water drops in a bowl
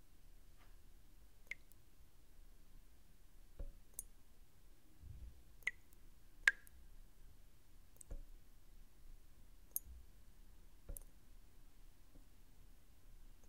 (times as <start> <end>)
1.5 1.8, 5.6 6.8